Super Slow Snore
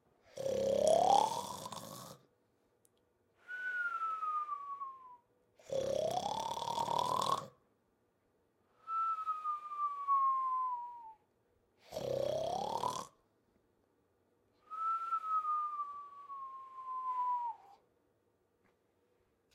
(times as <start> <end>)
0.2 2.3, 5.6 7.6, 11.8 13.2